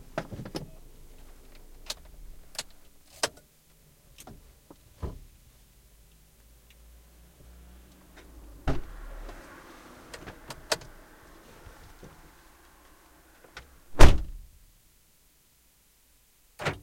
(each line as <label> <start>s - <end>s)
traffic 0.0s - 14.5s
driving a car 4.2s - 14.3s
opening the car 8.1s - 14.4s